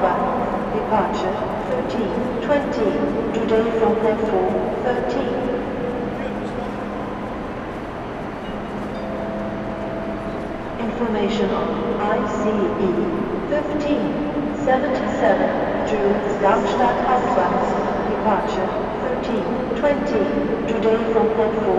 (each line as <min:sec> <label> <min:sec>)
0:00.0 train is arriving 0:21.7
0:08.4 anouncement 0:21.7